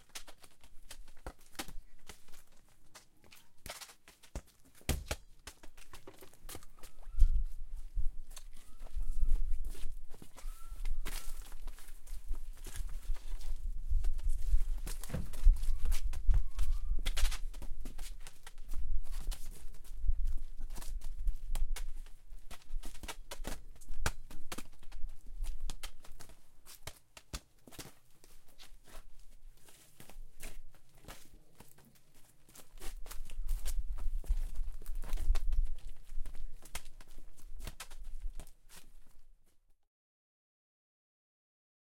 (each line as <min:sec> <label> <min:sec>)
0:00.0 two people 0:18.6
0:03.6 kicking ball on concrete floor 0:07.3
0:13.9 kicking ball on concrete floor 0:19.7